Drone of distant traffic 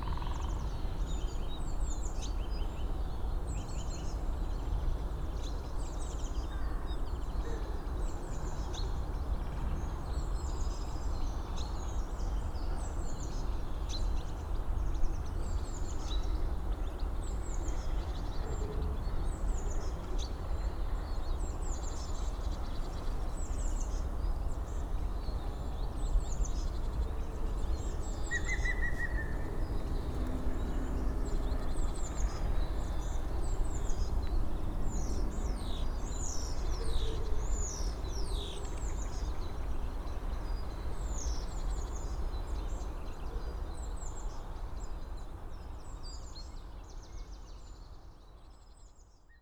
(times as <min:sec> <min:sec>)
0:24.7 0:41.4